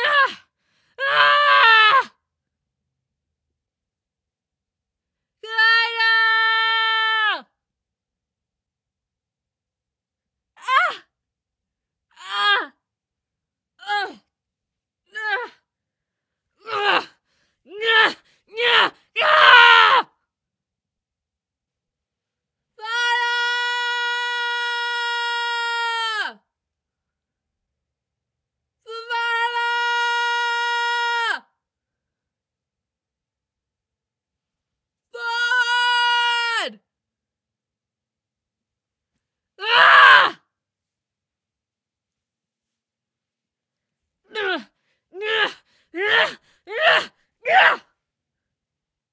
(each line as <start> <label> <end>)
0.0 Screams of a female warrior 2.2
5.4 Screams of a female warrior 7.5
10.6 Screams of a female warrior 11.1
12.1 Screams of a female warrior 12.8
13.8 Screams of a female warrior 14.2
15.1 Screams of a female warrior 15.6
16.6 Screams of a female warrior 20.2
22.8 Screams of a female warrior 26.4
28.9 Screams of a female warrior 31.5
35.1 Screams of a female warrior 36.8
39.6 Screams of a female warrior 40.5
44.3 Screams of a female warrior 48.0